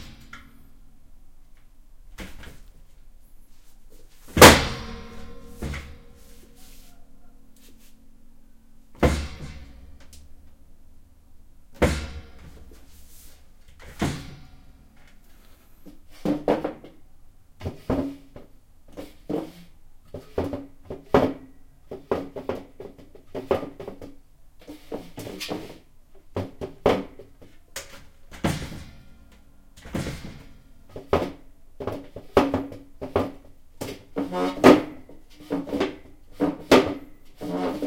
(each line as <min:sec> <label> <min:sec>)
0:29.8 chair 0:37.8